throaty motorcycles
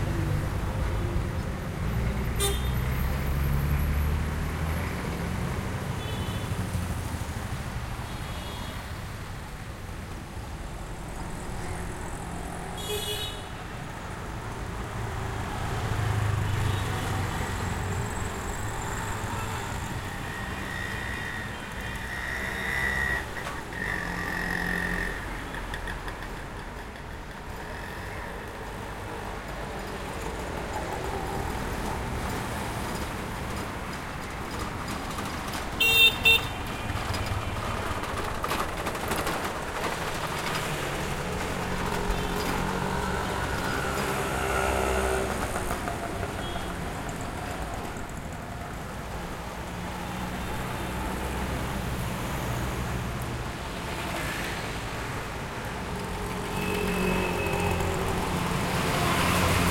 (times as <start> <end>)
17.6 29.5